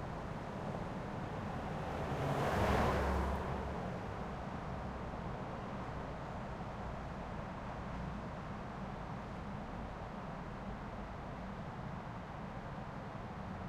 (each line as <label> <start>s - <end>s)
Freeway distant 0.0s - 5.8s